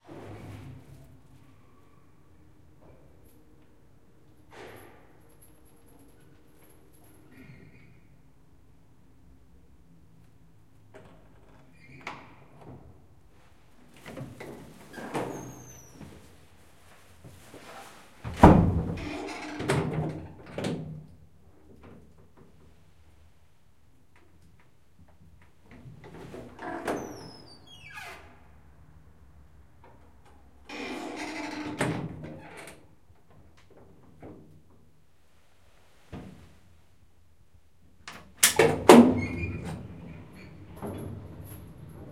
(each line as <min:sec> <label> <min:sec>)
0:38.6 Old elevator ride 0:42.1